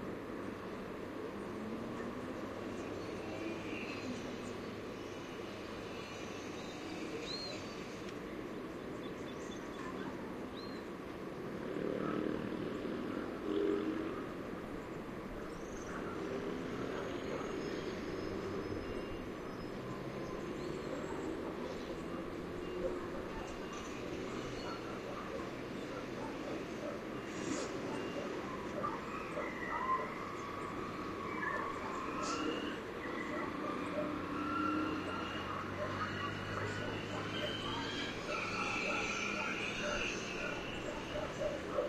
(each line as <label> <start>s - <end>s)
cars 0.0s - 41.8s
motorbikes 0.0s - 41.8s
birds 0.2s - 41.8s